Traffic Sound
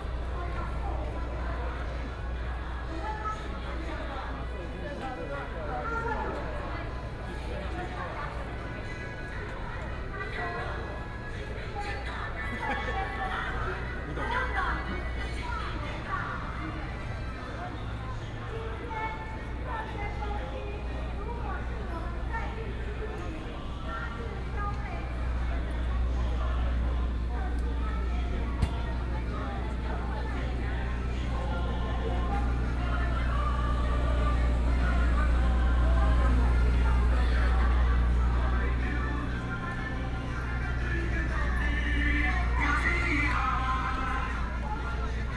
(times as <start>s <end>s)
24.4s 44.8s